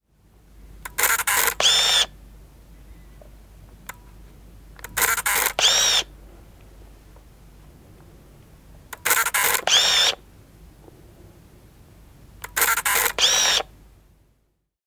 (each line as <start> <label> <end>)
0.8 small pocket camera 2.2
4.8 small pocket camera 6.1
8.9 small pocket camera 10.2
12.4 small pocket camera 13.7